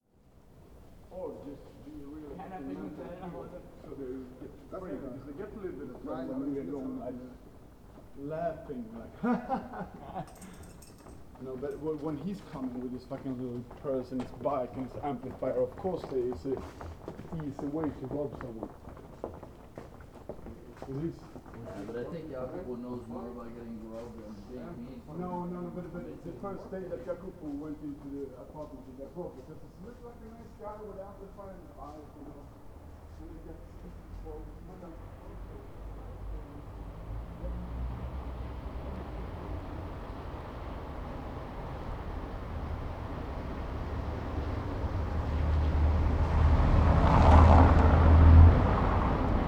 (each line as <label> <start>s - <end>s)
late night passers by 0.1s - 49.4s